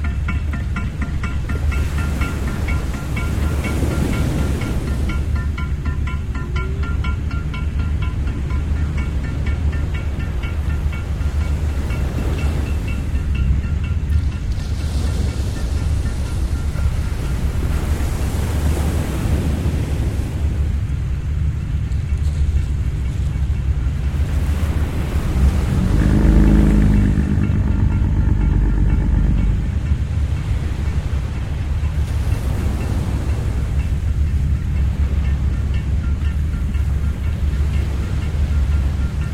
Fishing Boat 0.0 - 39.3
surfing boy and mum 0.0 - 39.3

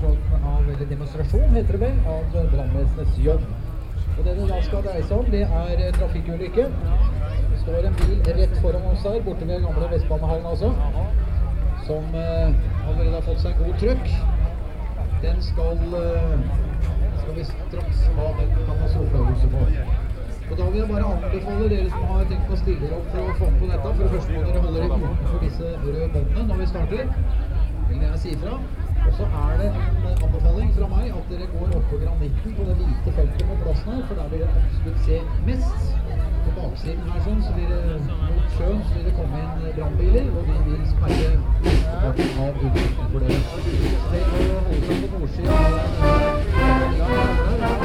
Fanfare 45.4 - 47.8

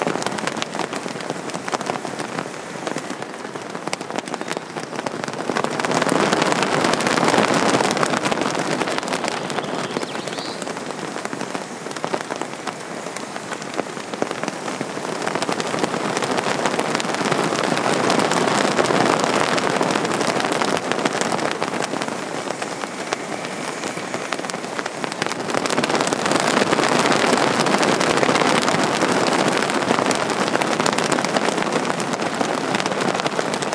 silk flags flapping 0.0 - 33.7

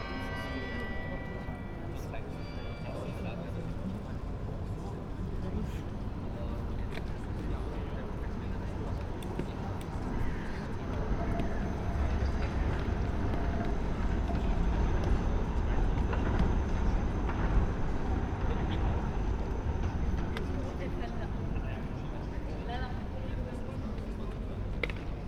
bells 0.0 - 3.8
trams 0.0 - 25.2

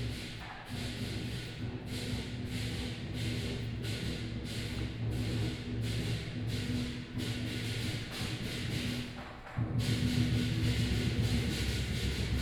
Percussion 0.0 - 12.4

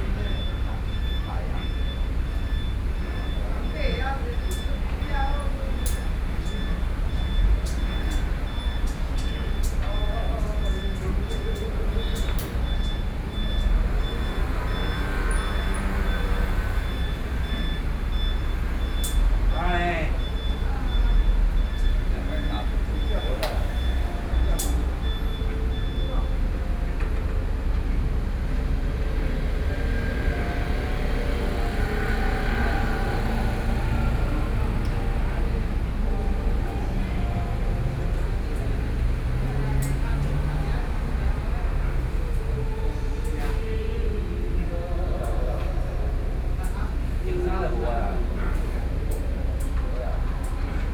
traffic noise 0.0 - 50.9

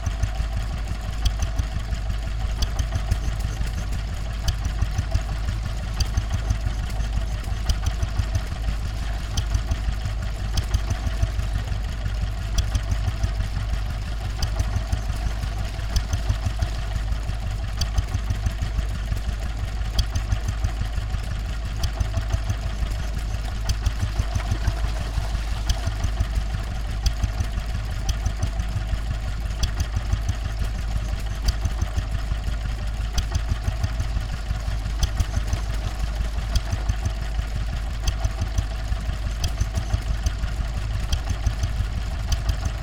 old petrol-driven water pump 0.0 - 42.8

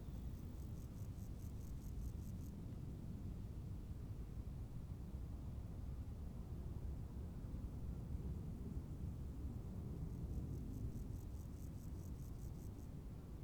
crickets 0.0 - 2.7
crickets 8.8 - 13.4

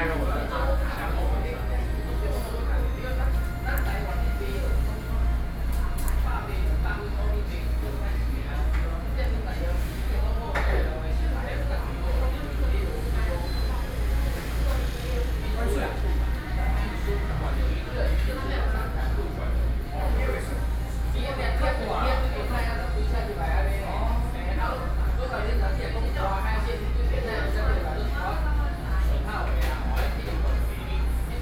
Air conditioning noise 0.0 - 31.4

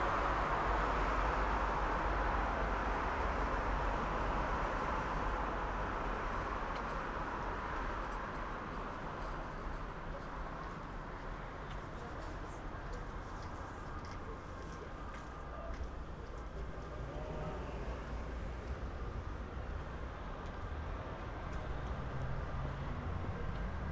Street 0.0 - 23.9

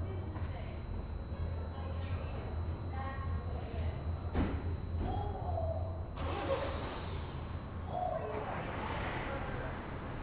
shoppers (going home) 4.2 - 10.2

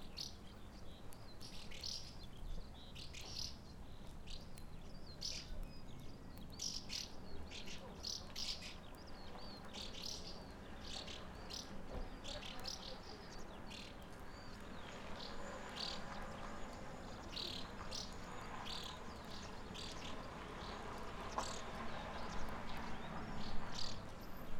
birds chirping 0.0 - 24.5

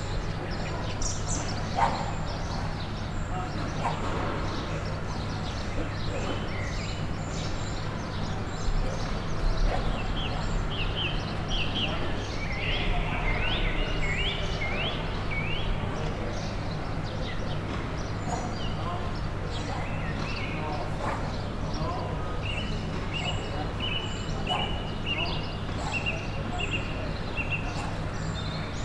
barking dog 1.8 - 2.2
barking dog 3.8 - 4.1
barking dog 20.9 - 21.4
barking dog 27.7 - 28.0

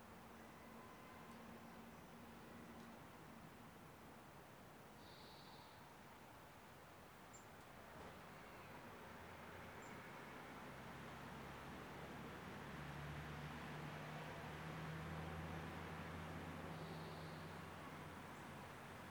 wind high in the trees 0.0 - 19.1

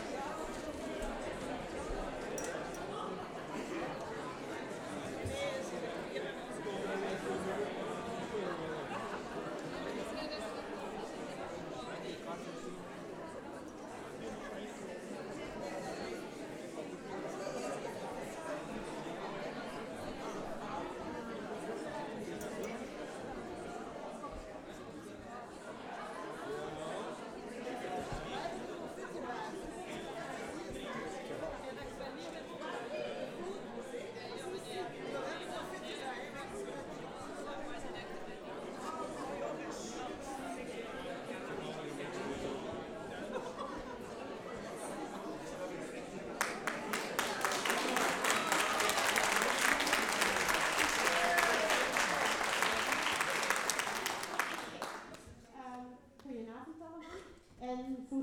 public entering theatre 0.0 - 56.0

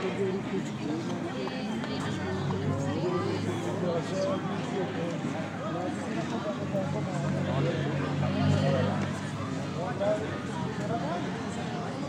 people talking 0.0 - 12.0
cars and motorcycles are heard circulating 0.0 - 12.0

